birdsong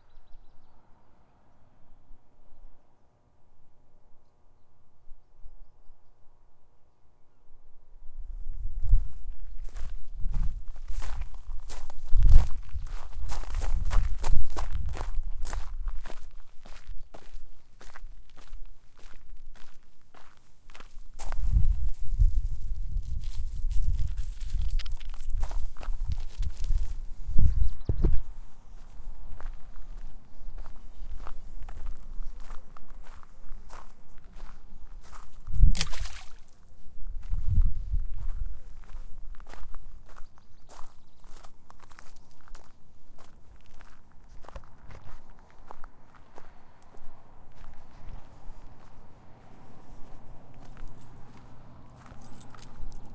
0.0 6.4, 27.3 29.1, 40.0 42.7

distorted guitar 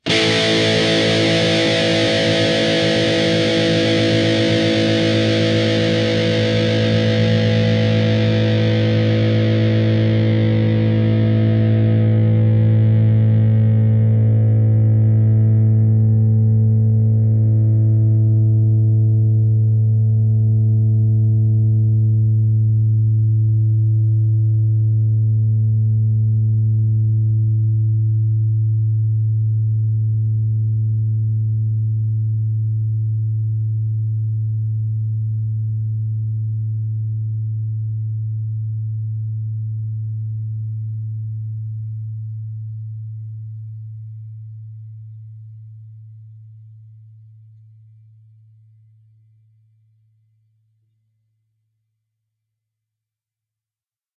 0.0 28.6

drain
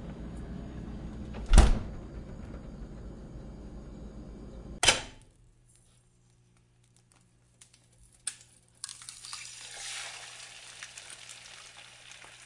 8.8 12.4

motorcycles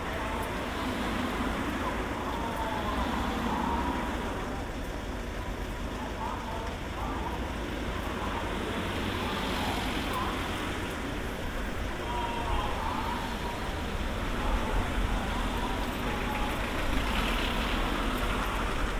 7.6 18.9

